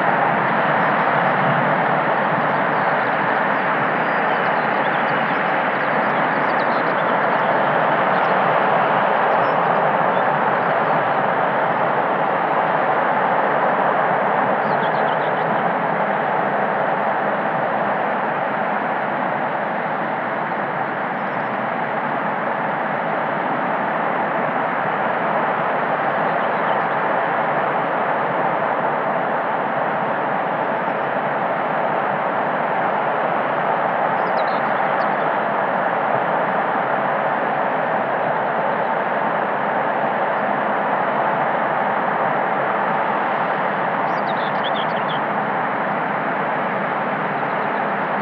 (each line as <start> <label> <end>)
0.0 NUCLEAR POWER PLANT 48.2
0.0 birds were flying around me 48.2